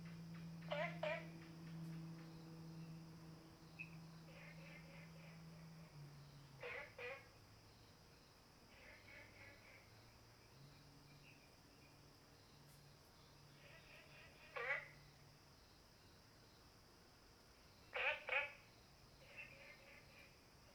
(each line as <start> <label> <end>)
0.0 Frogs chirping 12.5
13.2 Frogs chirping 16.2
17.6 Frogs chirping 20.7